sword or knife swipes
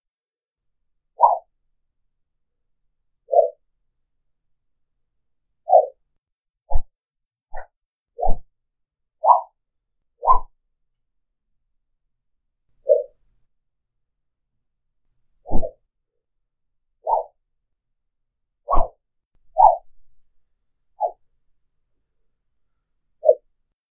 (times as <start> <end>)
9.3 9.5, 10.3 10.5, 15.5 15.7, 18.7 18.9